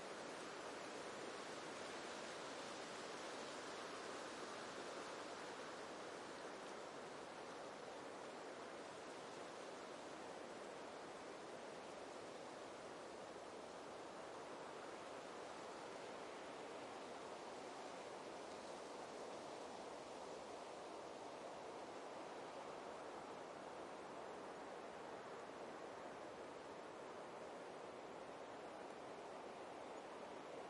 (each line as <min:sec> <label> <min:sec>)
0:00.0 rustling of the leaves of a young oak 0:30.6